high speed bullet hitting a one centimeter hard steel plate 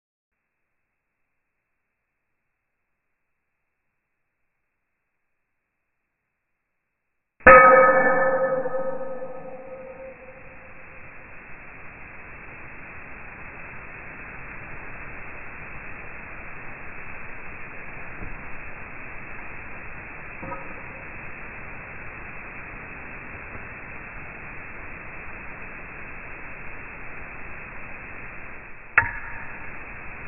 7.5 11.0, 20.4 21.0, 29.0 29.8

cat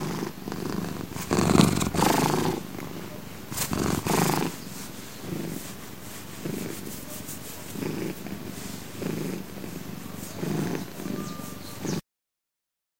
0.0 4.6, 6.4 12.0

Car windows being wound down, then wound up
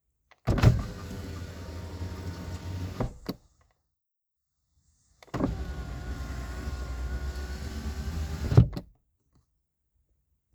0.6 3.2, 5.4 8.7

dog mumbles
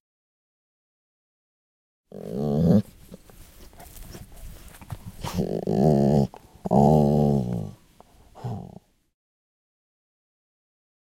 2.1 7.8, 8.4 8.9

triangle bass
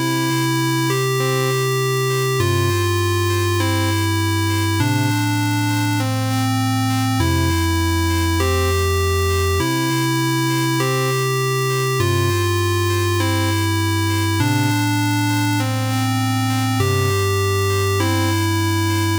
7.2 10.2

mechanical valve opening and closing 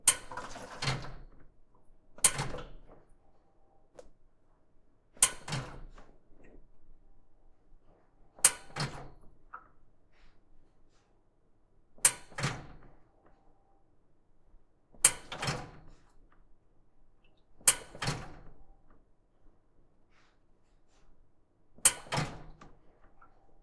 0.0 1.4, 5.2 6.0, 17.6 18.6, 21.8 22.6

